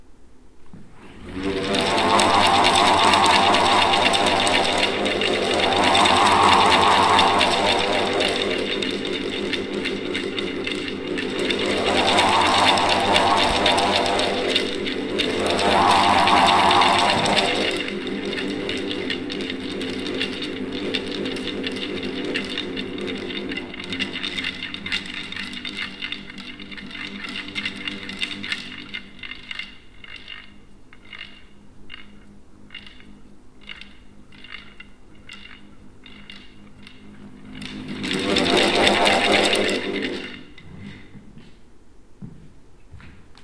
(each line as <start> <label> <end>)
0.9 Wind Wand 30.5
34.2 Wind Wand 41.5